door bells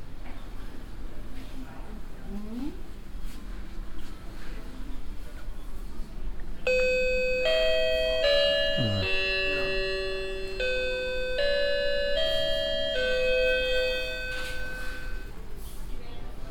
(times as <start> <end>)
6.7 15.4